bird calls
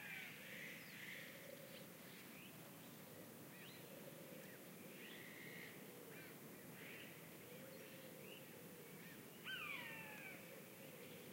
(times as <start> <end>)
3.6 11.3